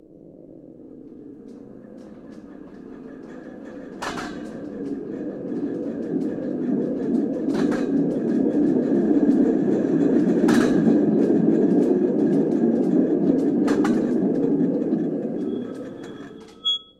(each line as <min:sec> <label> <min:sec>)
0:00.3 rolling sound 0:16.9